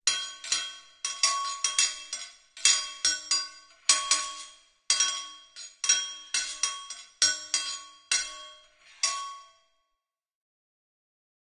0.1s anvil sounds 9.6s

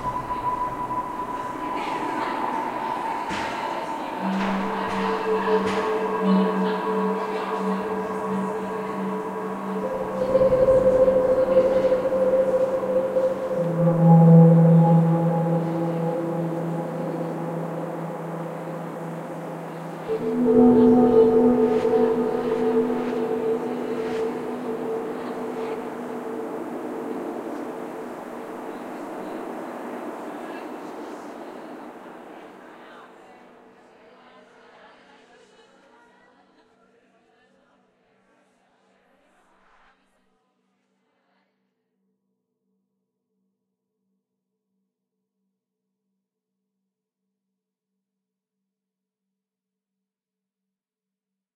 0.0s sweep 32.2s
0.0s synths 32.6s
0.0s voices 33.4s

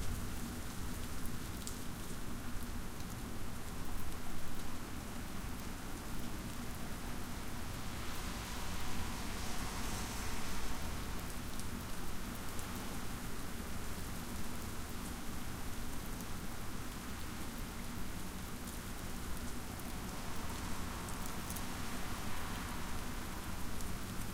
0.0s rain 24.3s

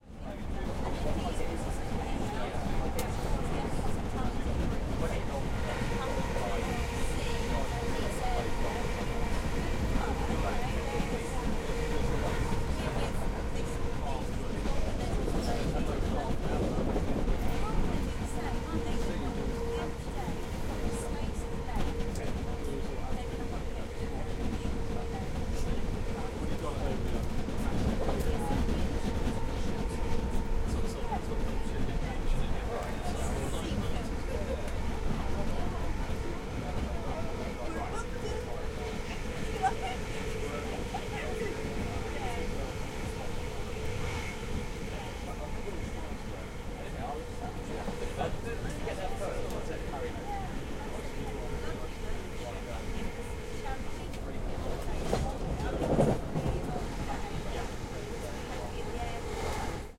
0.0s passenger talking 59.9s
0.0s train is moving 59.9s

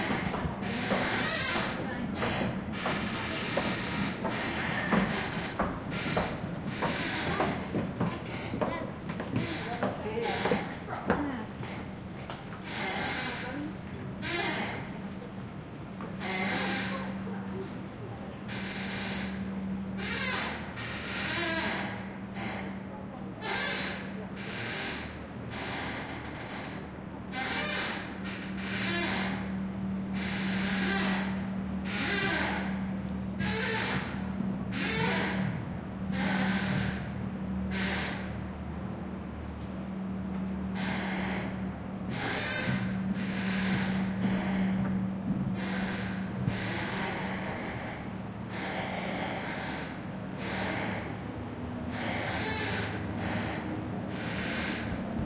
0.0s steps 14.0s

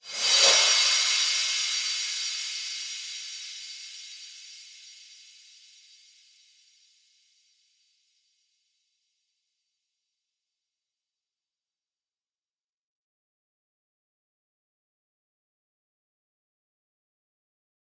0.0s Reverse cymbals 7.5s

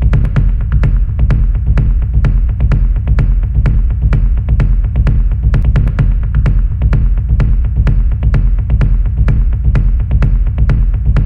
0.0s low end bass kick loops 11.2s

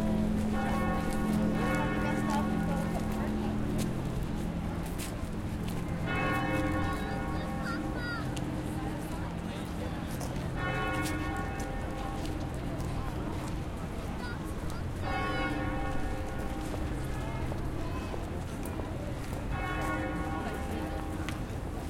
0.0s bourdon bell 21.8s
6.0s other bells in the north tower start to ring 8.7s

